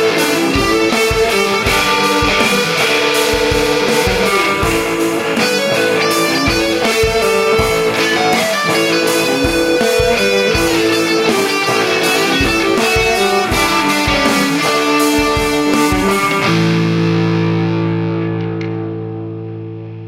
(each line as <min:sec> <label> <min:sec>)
0:00.0 drums 0:18.8
0:00.0 Gnashing guitar riffs 0:20.0
0:00.0 melodic solo part 0:17.9